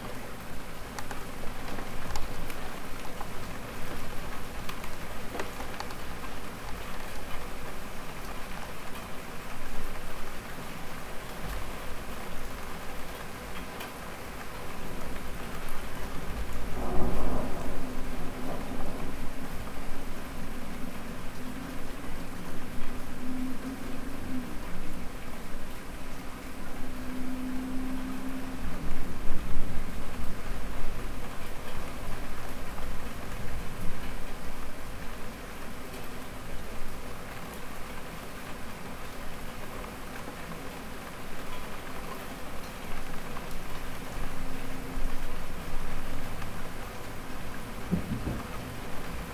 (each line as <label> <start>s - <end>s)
thunderstorm rolls across 15.1s - 25.6s
thunderstorm rolls across 44.7s - 49.3s